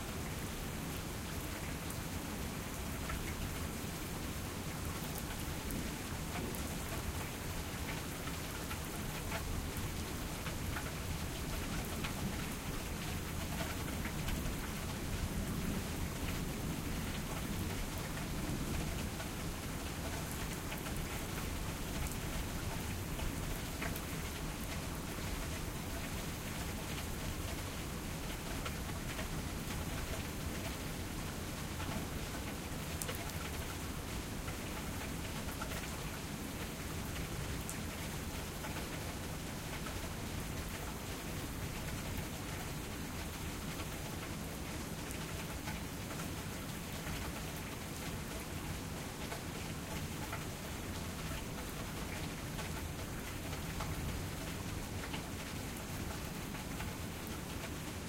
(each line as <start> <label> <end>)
0.0 rainstorm 58.0